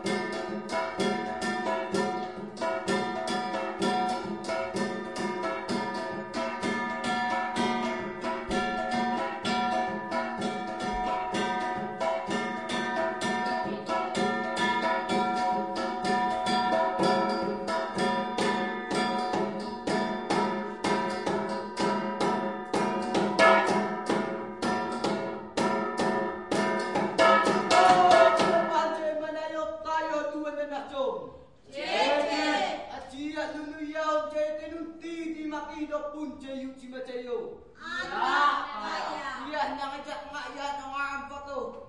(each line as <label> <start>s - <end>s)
drums 0.0s - 28.8s
song 27.2s - 29.0s